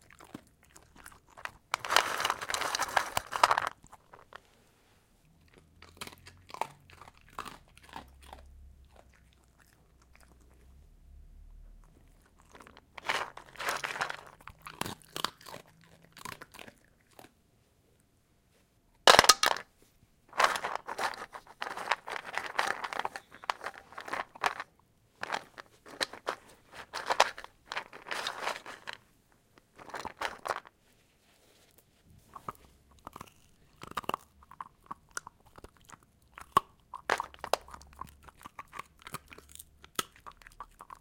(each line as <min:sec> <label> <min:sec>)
0:00.0 black dachshund eating his chunks 0:04.3
0:05.4 black dachshund eating his chunks 0:10.8
0:11.8 black dachshund eating his chunks 0:17.4
0:32.3 black dachshund eating his chunks 0:41.0